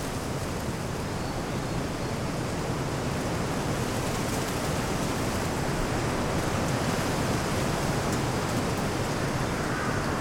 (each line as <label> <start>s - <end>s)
Heavy wind into trees branchs 2.6s - 10.2s